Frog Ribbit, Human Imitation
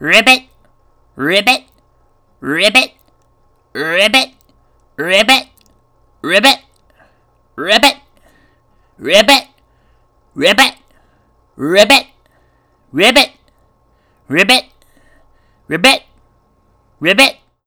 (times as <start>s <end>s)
0.0s 0.6s, 1.2s 1.8s, 2.4s 3.2s, 3.8s 8.4s, 9.0s 9.6s, 10.4s 11.0s, 11.6s 12.2s, 12.9s 13.5s, 14.3s 14.8s, 15.7s 16.2s, 17.0s 17.6s